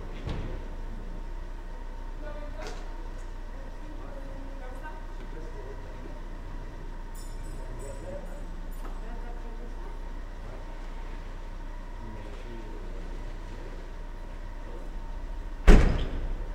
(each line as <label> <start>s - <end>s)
traffic 0.0s - 16.5s
car doors 15.6s - 16.5s